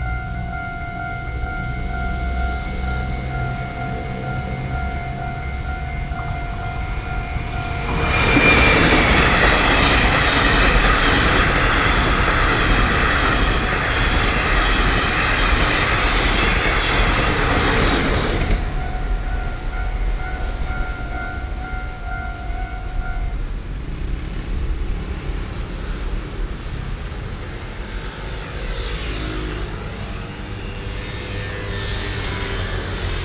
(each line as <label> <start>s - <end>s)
Train traveling through 0.0s - 33.2s